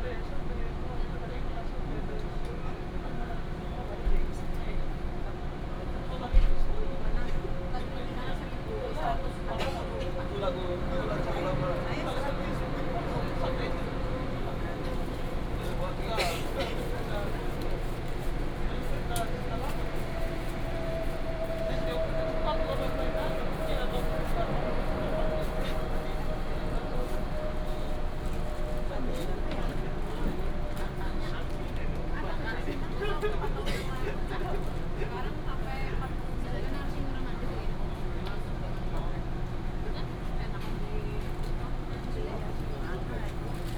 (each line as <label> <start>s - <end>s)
The train arrived 7.4s - 32.9s